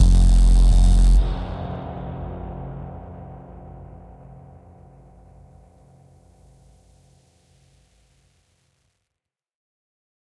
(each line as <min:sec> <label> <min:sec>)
0:00.0 synth 0:05.9